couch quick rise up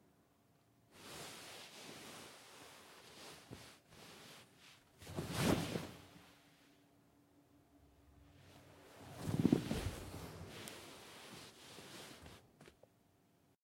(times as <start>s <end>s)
9.0s 12.4s